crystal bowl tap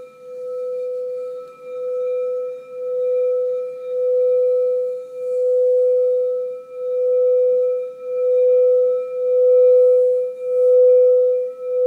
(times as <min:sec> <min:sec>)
0:00.7 0:02.1